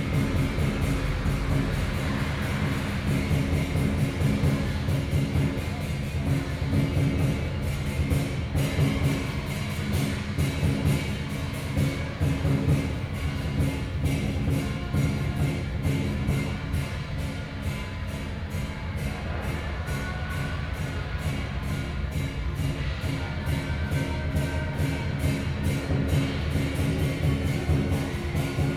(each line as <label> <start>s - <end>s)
Gong 0.0s - 28.7s
Traditional musical instruments 0.0s - 28.7s